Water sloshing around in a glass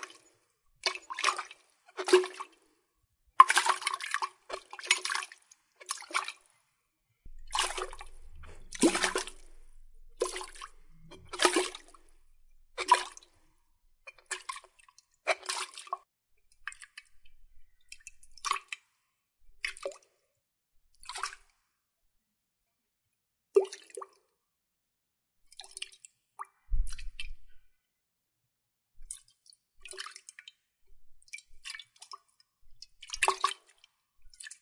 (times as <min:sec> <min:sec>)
0:00.0 0:02.8, 0:03.4 0:06.6, 0:07.3 0:20.2, 0:21.0 0:21.7, 0:25.5 0:27.6, 0:29.0 0:30.6, 0:31.2 0:34.6